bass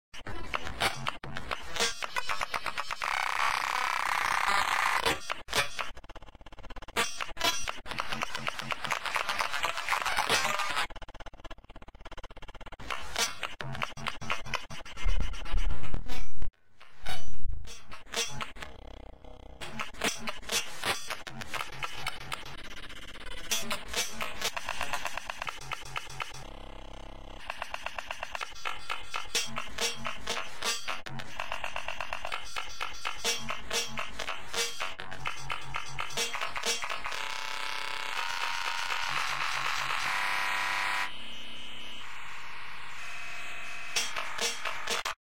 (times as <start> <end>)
12.6 27.6